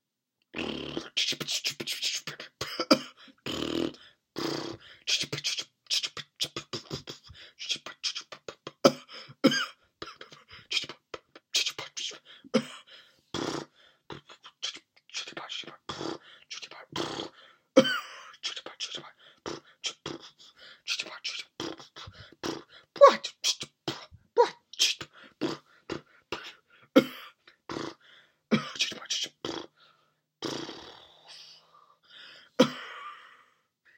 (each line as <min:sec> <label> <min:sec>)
0:00.6 Sputtering and Coughing Vocal Motor 0:05.2
0:13.4 Sputtering and Coughing Vocal Motor 0:14.5
0:16.8 Sputtering and Coughing Vocal Motor 0:18.0
0:19.4 Sputtering and Coughing Vocal Motor 0:29.7
0:30.4 Sputtering and Coughing Vocal Motor 0:31.4